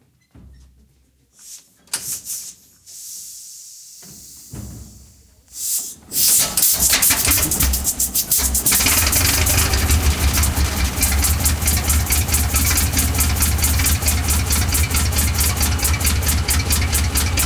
6.1s Tractor 17.4s

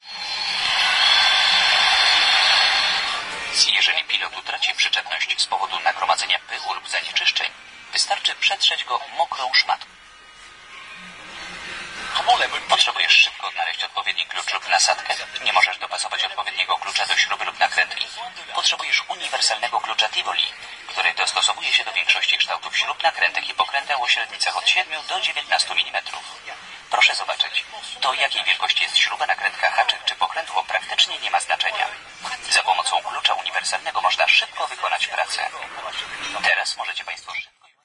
0.0s instructional video is playing 9.9s

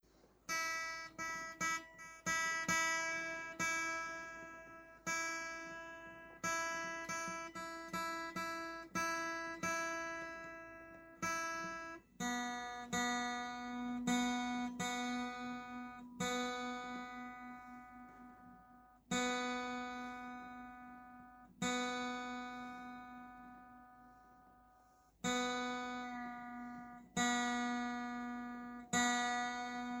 0.1s guitar 30.0s
0.1s acoustic guitar tuning 30.0s

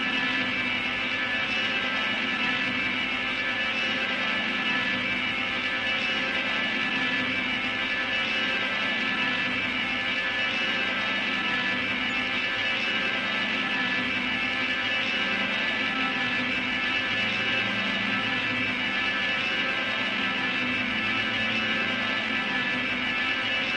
0.0s Telecaster 23.7s

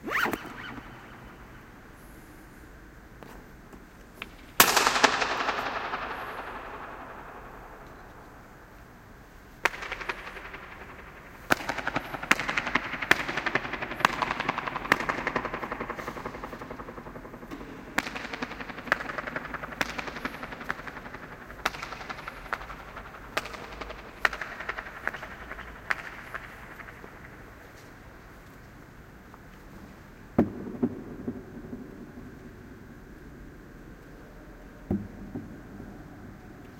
0.0s Massive echo 3.0s
4.3s Massive echo 28.4s

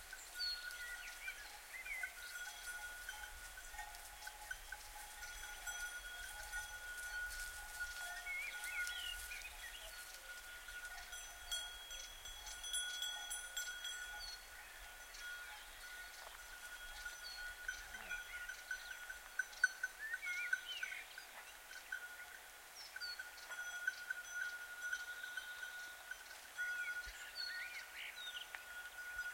0.0s footsteps in the grass 11.2s
0.0s birds 29.3s
0.0s cow with a wooden bell 29.3s
0.0s goats with bells on their neck grazing 29.3s

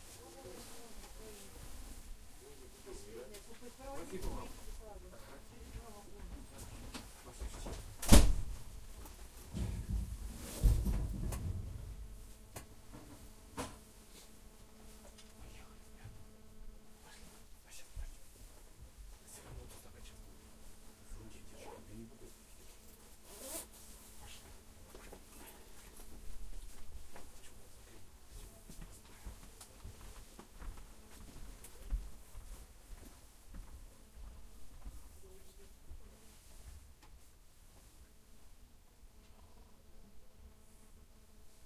8.0s Slamming of doors 8.5s
9.5s rumble 12.5s

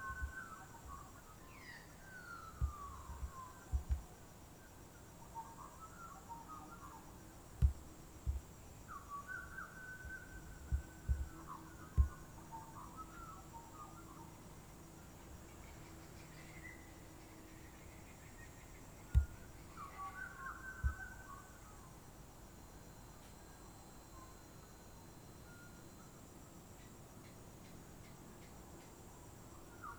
0.0s Birdsong 4.2s
0.0s insects 29.9s
2.6s banging noises on the mic 4.1s
5.0s Birdsong 21.9s
7.6s banging noises on the mic 8.5s
10.7s banging noises on the mic 11.3s
12.0s banging noises on the mic 12.2s
19.1s banging noises on the mic 19.4s

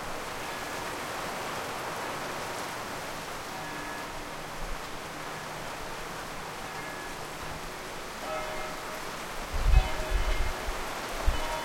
0.0s rain 11.6s
5.2s bells 11.6s

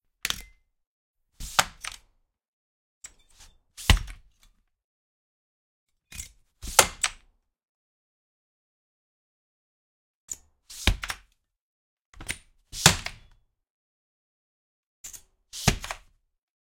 15.6s windows slide open, close2 16.1s

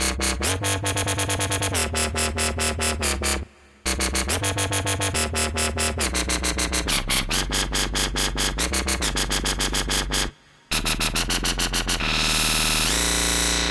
0.0s wobble basses 13.7s

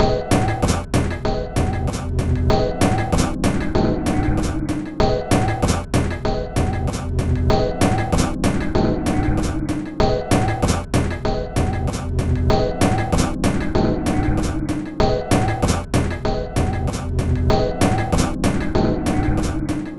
0.0s Drum 19.9s

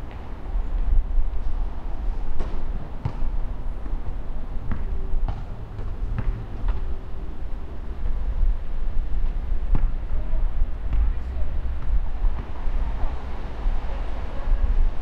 0.0s cars on the streets 15.0s

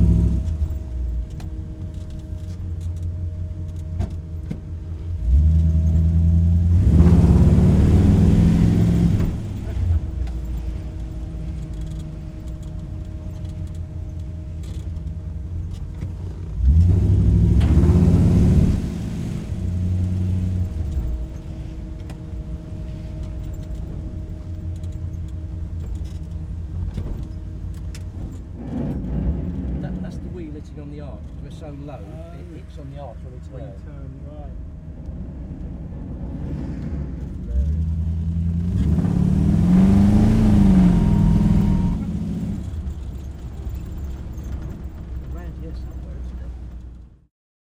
0.0s car with v8 engine cruising and revving 47.3s

